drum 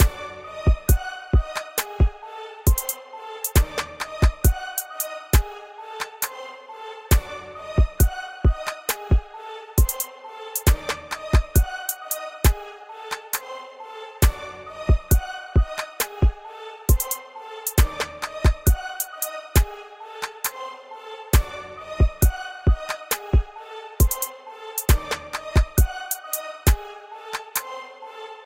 0:00.7 0:04.6, 0:07.8 0:10.0, 0:10.6 0:11.6, 0:14.9 0:18.8, 0:22.0 0:25.9

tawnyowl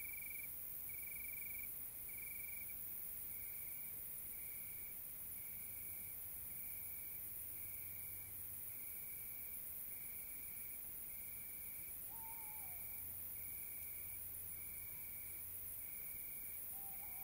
0:12.1 0:13.0, 0:16.7 0:17.2

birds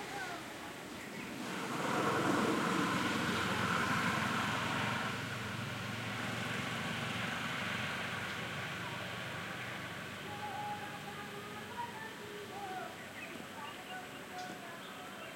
0:00.0 0:03.2, 0:07.0 0:15.3

